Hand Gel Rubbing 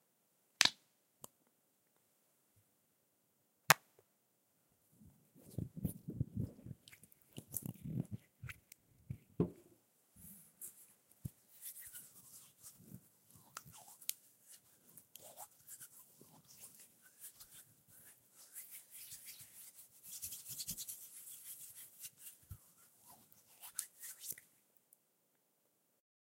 0:10.6 0:24.4

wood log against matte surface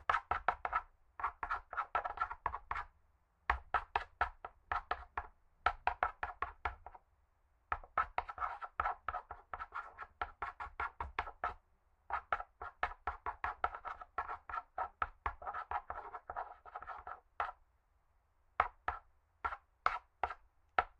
0:07.8 0:17.6

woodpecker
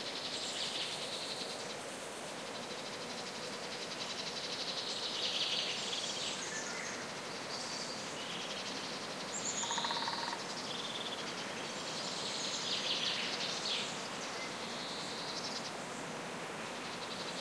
0:09.6 0:10.4

